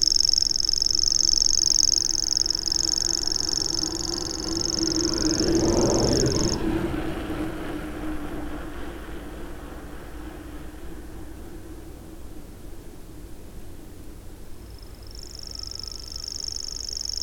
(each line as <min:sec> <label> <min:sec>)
0:00.0 Grasshopper warbler 0:06.6
0:00.5 cyclist freewheeled by 0:12.3
0:14.5 Grasshopper warbler 0:17.2